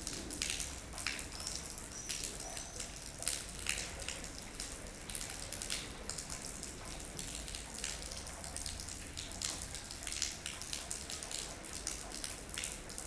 0.0s Water is falling from gutters 13.0s
0.0s constant rain is falling 13.0s

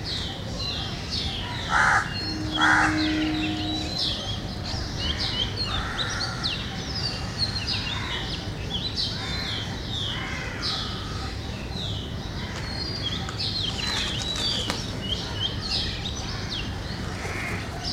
0.0s cuckoos 17.9s
0.0s occasional traffic 17.9s
0.0s sparrows 17.9s
1.5s crows 4.0s
1.6s distant train horns 6.6s
9.1s crows 11.3s
12.5s doves 15.2s
16.3s crows 17.9s

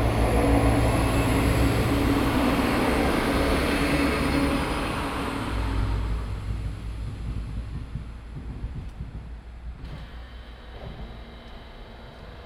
0.0s train passes by 11.2s
0.0s sporadic traffic on the street 12.4s

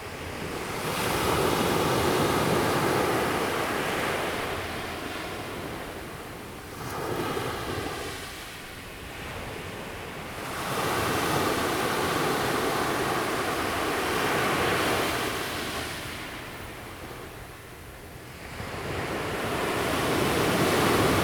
0.0s waves 21.2s

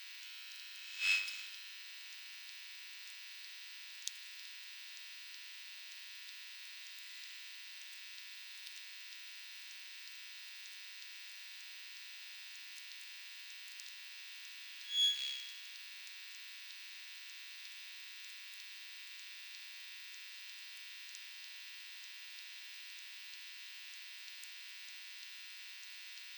0.2s hum from near power line 1.6s
14.8s hum from near power line 15.7s

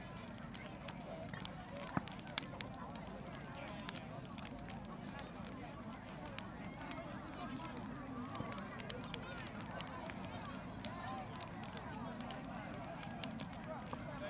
0.0s bonfire 14.2s
0.0s large crowd 14.2s

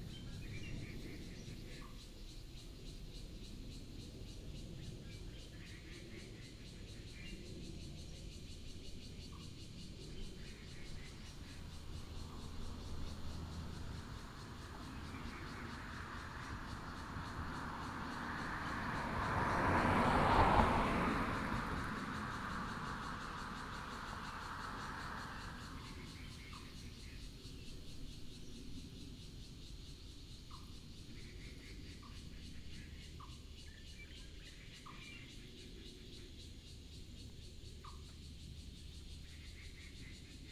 0.0s birds 40.5s
3.9s plane 29.0s
6.1s Traffic sound 40.4s

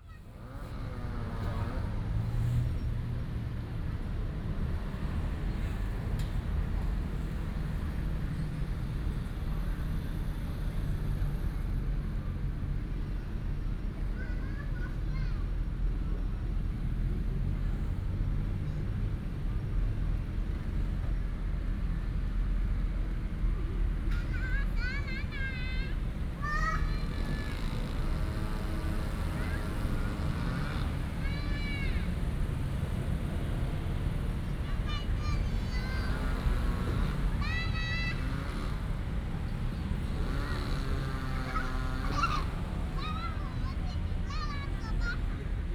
0.0s Traffic sound 45.7s
24.2s Construction sound 45.7s

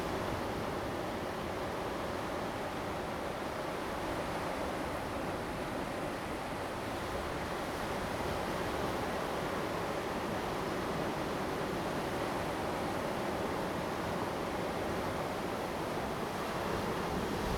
0.9s Waves 17.5s

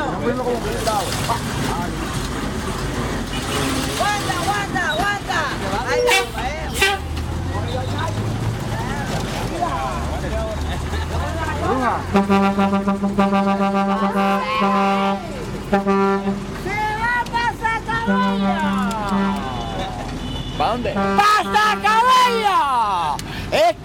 0.0s Bus sparring to anounce and collect passengers 23.8s

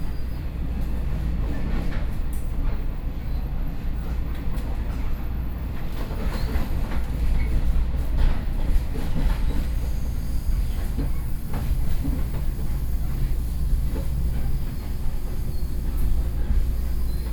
0.0s Inside the train 17.3s

